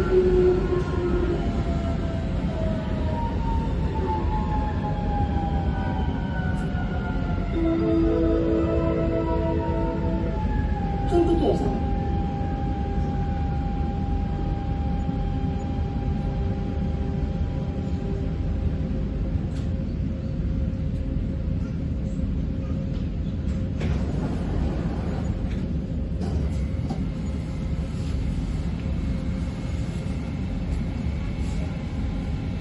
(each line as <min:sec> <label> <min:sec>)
0:00.0 passengers 0:32.6
0:05.5 metro rattle 0:32.6
0:07.5 stop announcements 0:13.3